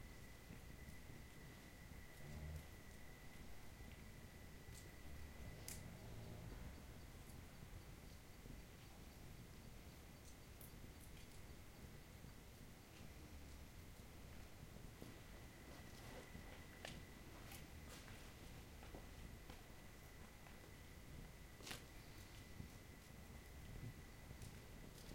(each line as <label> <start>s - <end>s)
tending fire 0.0s - 25.1s
crickets 0.0s - 25.1s
steps dirt 14.3s - 23.2s